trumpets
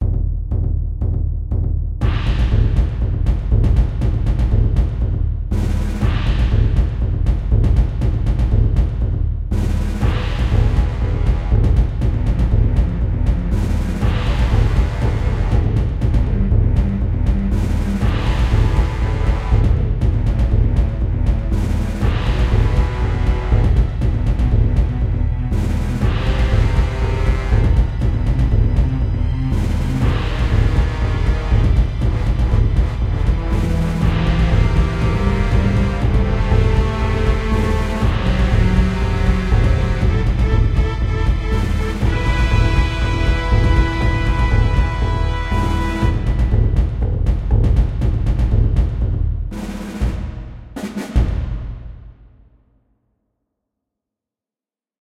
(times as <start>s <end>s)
13.5s 16.8s, 20.9s 28.4s, 29.5s 46.7s